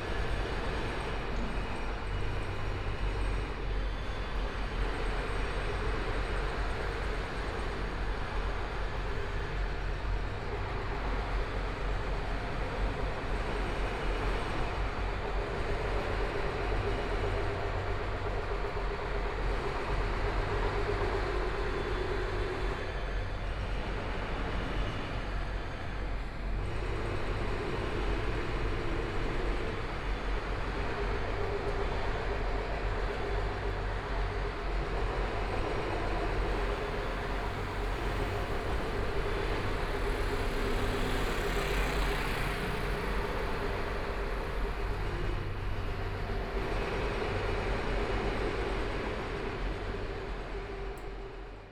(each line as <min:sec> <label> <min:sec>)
0:00.0 Pedestrian 0:51.7
0:00.0 Construction site sounds 0:51.7
0:35.4 Traffic Sound 0:51.7